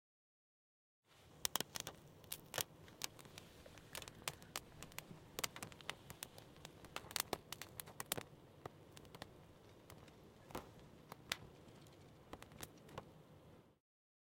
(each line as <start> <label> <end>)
1.2 Burning a plastic bag 13.8